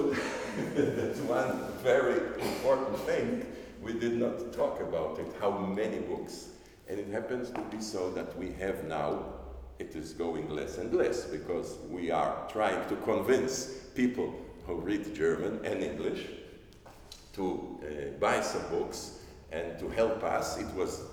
tells the story of John Koch 0.0 - 16.5

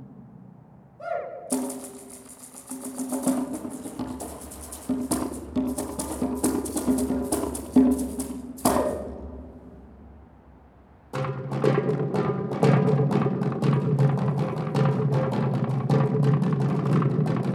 Ocarina 1.0 - 1.8
Darbuka 1.5 - 17.5

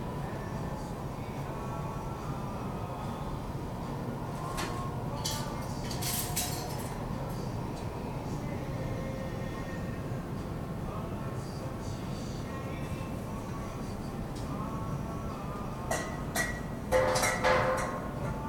kitchen noise 4.5 - 7.1
kitchen noise 15.9 - 18.0

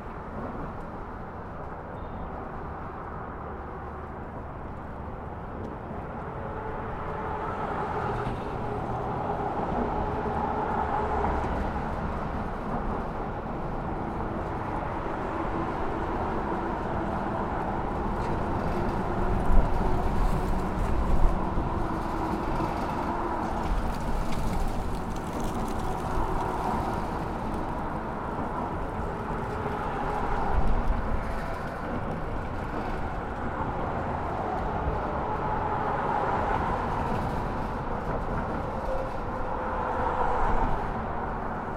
Bridge traffic 0.0 - 41.7

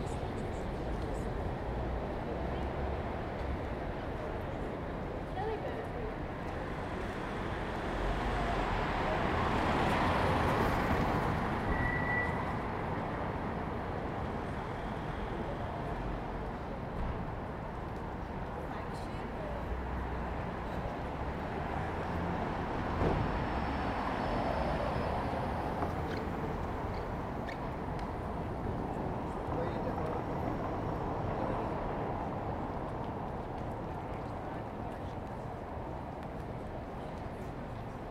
cars 0.0 - 38.1
people walking and talking 0.0 - 38.1

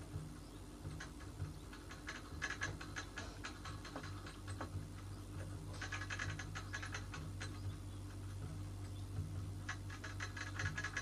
rabbits in their hutches 0.0 - 11.0

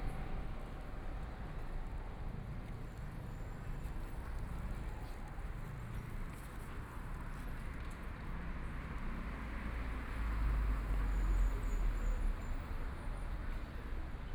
Pedestrians 0.0 - 14.3

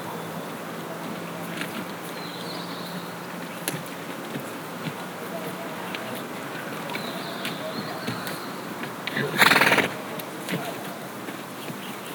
horse 4.3 - 10.7

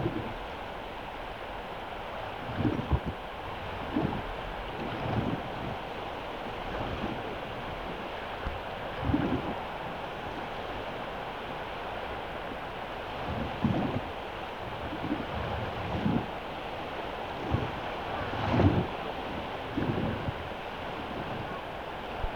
water 0.0 - 22.3

